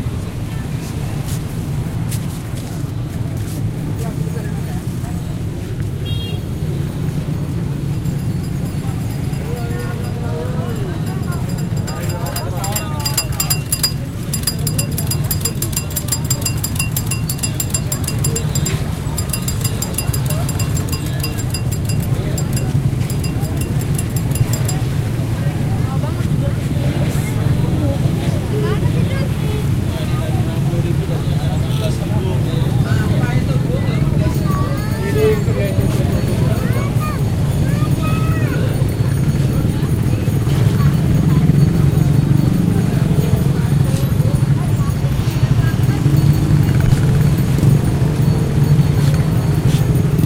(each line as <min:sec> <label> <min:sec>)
0:06.5 pedestrian passing 0:26.5
0:07.0 bikes 0:24.9